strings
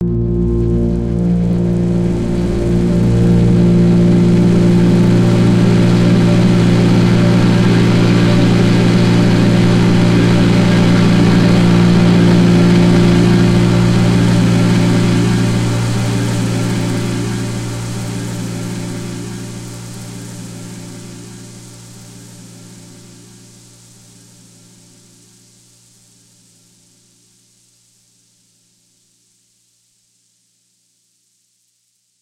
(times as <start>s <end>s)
0.0s 23.5s